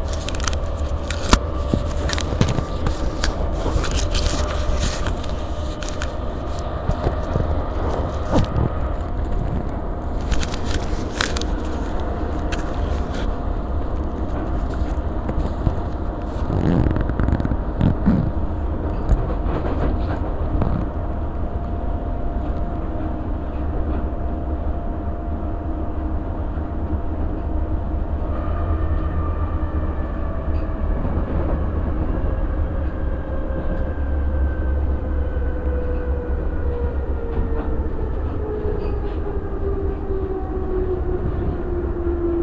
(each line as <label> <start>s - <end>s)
another train which is going fastly on the backward railway 0.0s - 42.4s
going onto the rail-crossings 0.0s - 42.4s
train was slowing down 0.0s - 42.4s